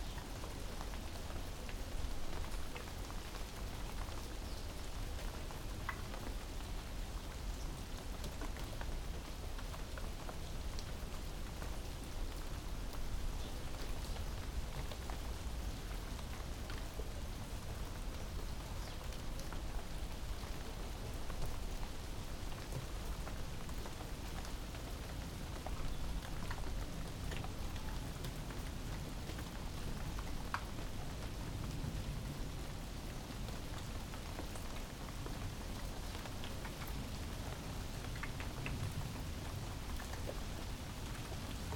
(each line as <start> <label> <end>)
0.0 Heavy rain 41.7